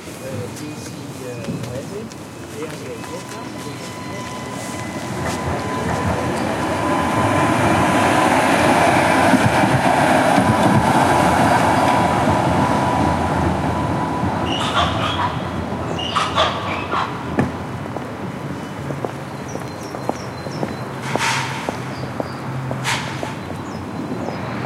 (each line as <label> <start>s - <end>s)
traffic noise 0.0s - 24.6s
tramway passing by 0.0s - 24.6s
footsteps 0.1s - 6.5s
male voice talks 0.2s - 4.6s
wind noise 3.9s - 24.6s
bird singing 14.4s - 16.9s
bird singing 18.6s - 21.0s